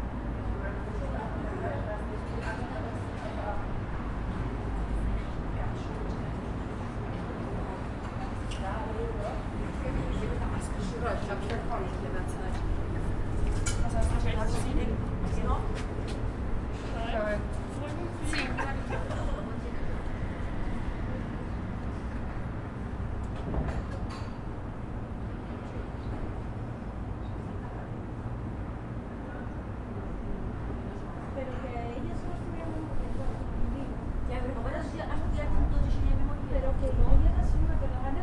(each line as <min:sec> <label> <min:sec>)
0:00.6 people 0:22.2